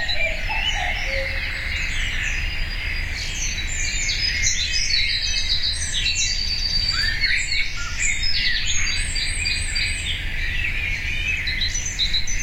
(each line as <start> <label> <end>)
0.0 cuckoo 2.5